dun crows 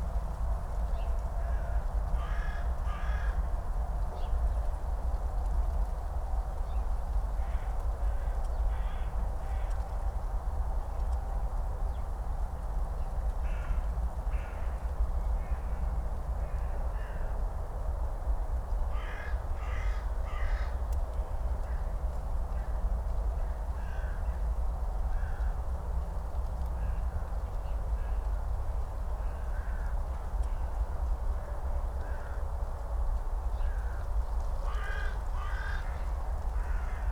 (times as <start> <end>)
19.0 20.8, 34.7 36.0